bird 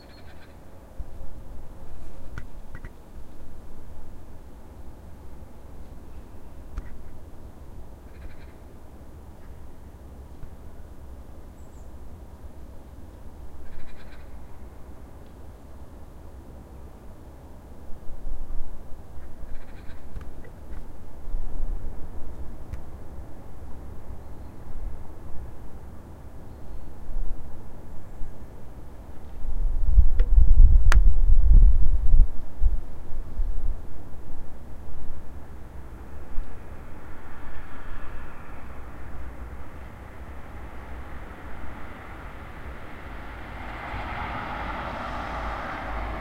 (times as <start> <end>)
0.0 0.6, 8.1 8.7, 13.6 14.4, 19.2 20.6